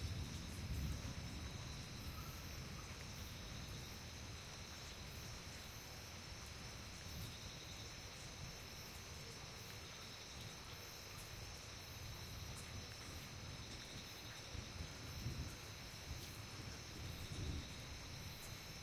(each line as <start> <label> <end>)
0.0 Dry rolling thunder 3.9
0.0 insects 18.8
0.0 water 18.8